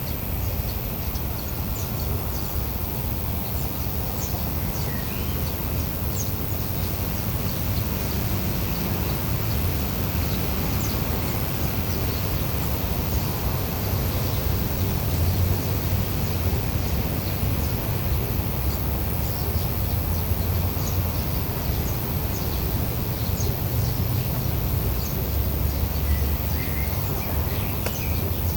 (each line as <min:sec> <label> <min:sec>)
0:00.0 insects singing by the side of the dirt road 0:28.5